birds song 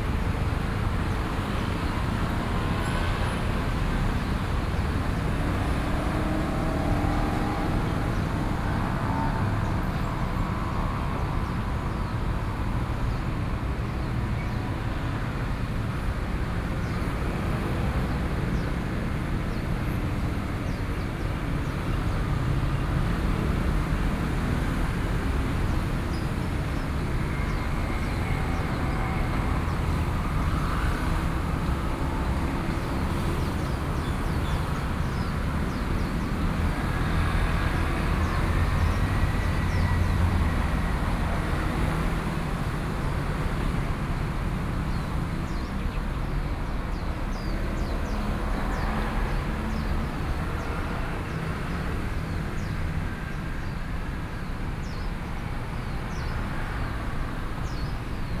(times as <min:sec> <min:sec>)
0:16.7 0:43.8, 0:44.4 0:58.4